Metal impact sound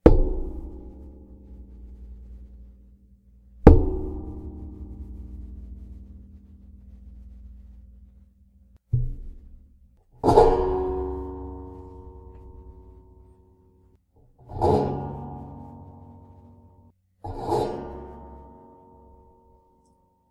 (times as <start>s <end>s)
3.6s 6.9s, 8.9s 13.3s